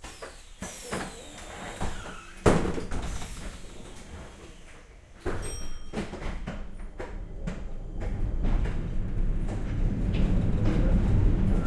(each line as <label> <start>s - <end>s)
doors 0.0s - 11.6s
bell 5.3s - 6.3s
An old rattling tram 5.4s - 11.6s